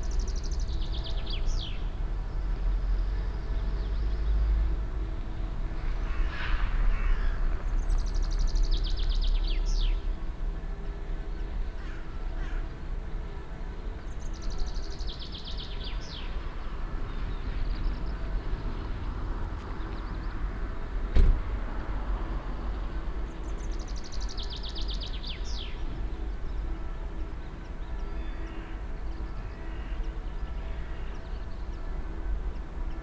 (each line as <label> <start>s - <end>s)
church bells of the town in the distance 0.0s - 6.8s
trains passing by 0.0s - 33.0s
church bells of the town in the distance 22.4s - 33.0s